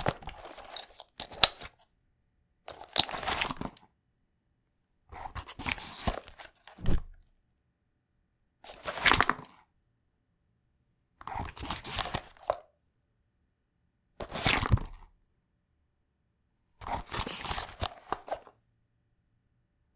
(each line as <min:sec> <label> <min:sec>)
0:00.0 Holstering my 9mm Taurus G2c in a Crosman fabric holster 0:01.8
0:00.6 unbuckle clicks 0:01.8